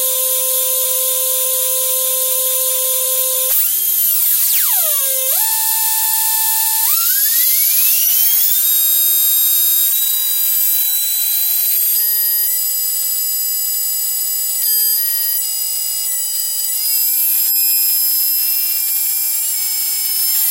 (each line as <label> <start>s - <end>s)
sound with a screaming, alarm-like character 3.5s - 9.0s